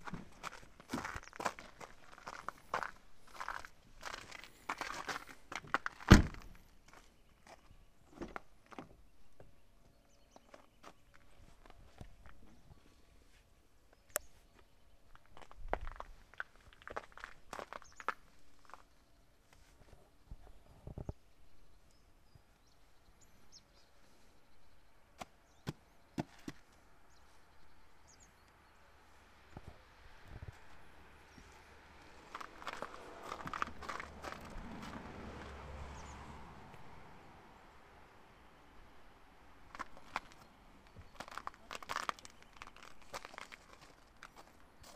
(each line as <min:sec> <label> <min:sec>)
0:00.0 spring birds 0:35.0
0:28.9 passing cars 0:40.9
0:37.7 spring birds 0:44.9